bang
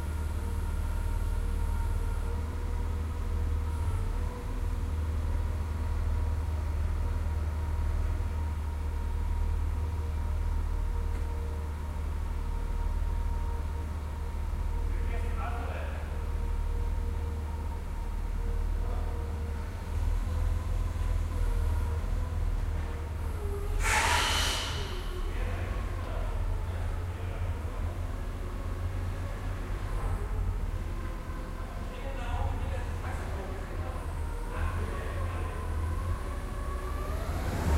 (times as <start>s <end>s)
23.8s 25.2s